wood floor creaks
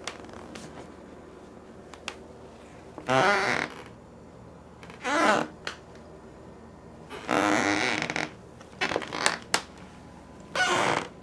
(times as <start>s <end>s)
0.0s 0.6s, 3.0s 4.0s, 4.8s 5.6s, 7.1s 9.6s, 10.5s 11.2s